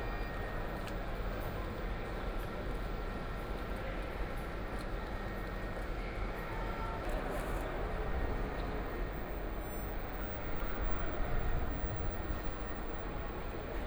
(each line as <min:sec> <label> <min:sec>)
0:00.0 Walking in the station hall 0:13.8